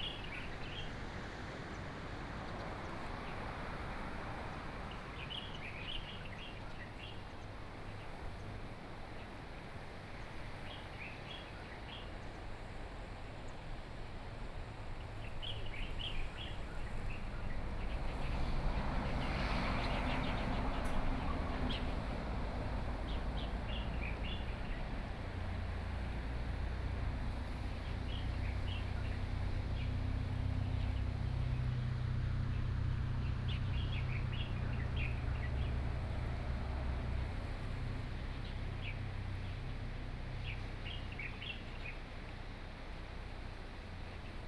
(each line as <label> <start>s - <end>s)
Waves 0.0s - 44.4s
Birdsong 15.0s - 36.2s
Birdsong 37.7s - 42.1s